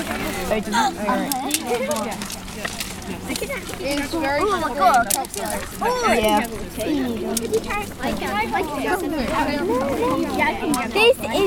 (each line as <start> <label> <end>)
0.0 Children 11.4